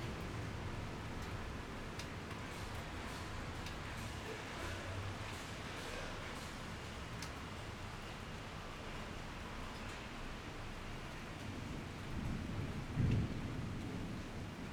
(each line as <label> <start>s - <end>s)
Thunderstorms 11.6s - 14.7s